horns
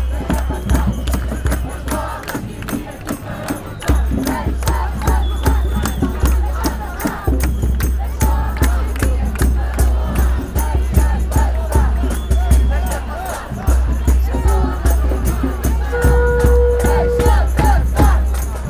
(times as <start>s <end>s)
14.5s 18.6s